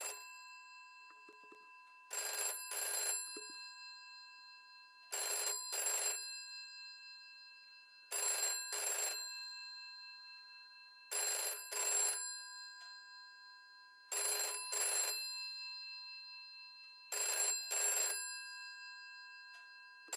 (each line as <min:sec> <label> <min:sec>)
0:00.0 old phone ringing 0:04.5
0:05.1 old phone ringing 0:06.9
0:07.6 old phone ringing 0:13.3
0:14.1 old phone ringing 0:20.1